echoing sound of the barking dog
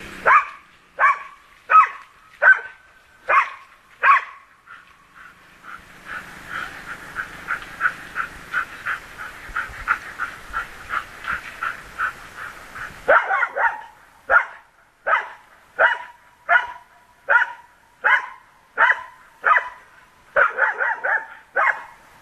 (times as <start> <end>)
0.2 4.5, 13.0 22.0